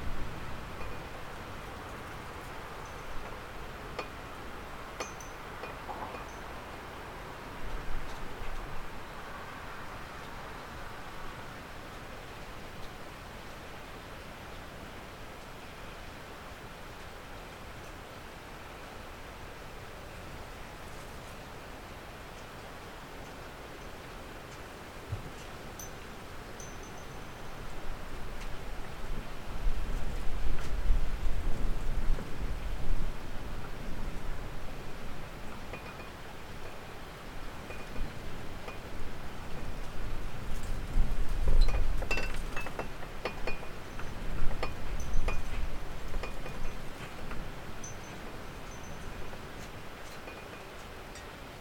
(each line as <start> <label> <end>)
0.0 wind 51.6
5.0 metal, wood and glass sounds 6.5
35.7 metal, wood and glass sounds 36.2
37.7 metal, wood and glass sounds 38.1
41.6 metal, wood and glass sounds 49.2
50.0 metal, wood and glass sounds 51.3